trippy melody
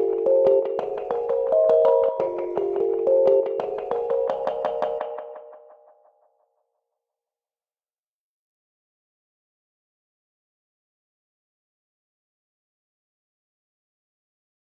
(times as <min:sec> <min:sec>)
0:00.0 0:05.8